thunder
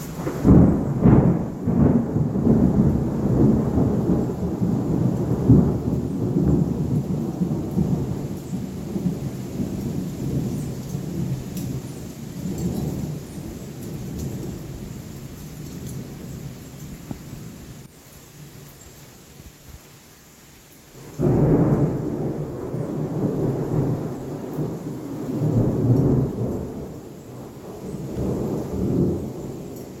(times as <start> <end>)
0.0 15.0, 21.0 30.0